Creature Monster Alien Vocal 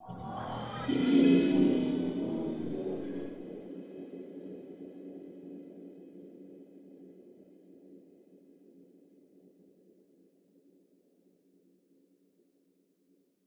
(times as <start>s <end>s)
0.0s 3.6s